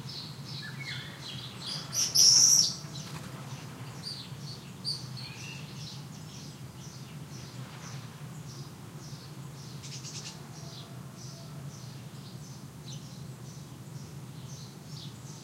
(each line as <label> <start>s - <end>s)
Golden Oriole 0.0s - 15.4s
Rooster 1.8s - 3.3s
Rooster 10.3s - 11.8s